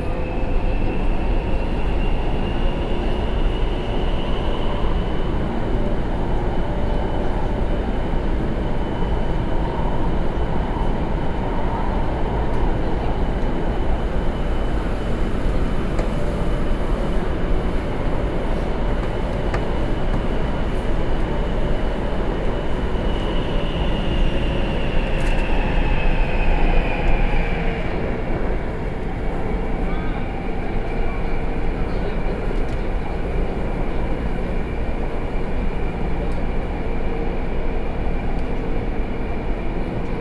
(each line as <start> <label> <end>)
0.0 subway 40.2